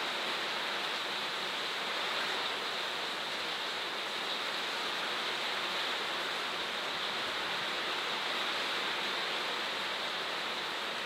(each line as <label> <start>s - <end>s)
rain 0.0s - 11.0s